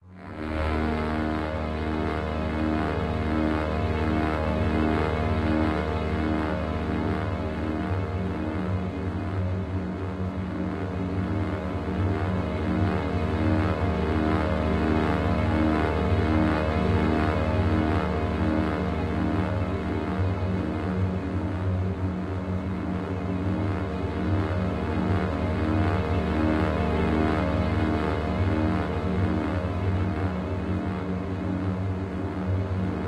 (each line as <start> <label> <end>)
0.0 synthesizer 33.0
0.3 strings 33.0